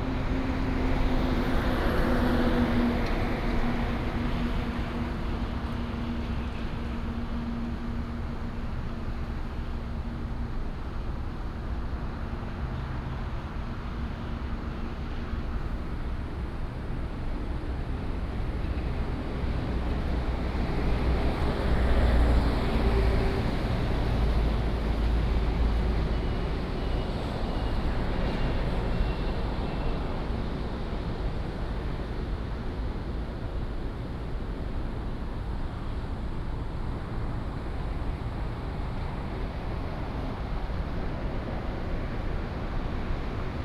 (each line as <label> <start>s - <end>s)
traffic sound 0.0s - 43.6s